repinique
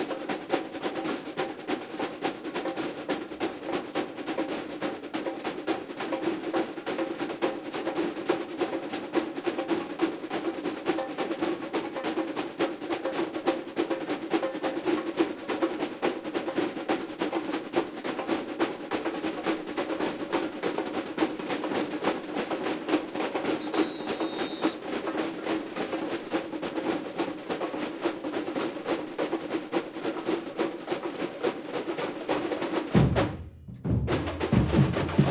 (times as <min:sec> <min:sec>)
0:23.6 0:24.7